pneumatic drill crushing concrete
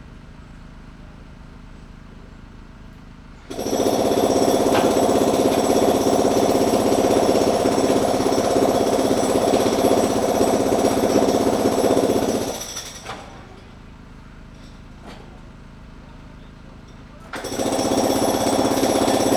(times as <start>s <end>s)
3.5s 13.7s, 17.2s 19.3s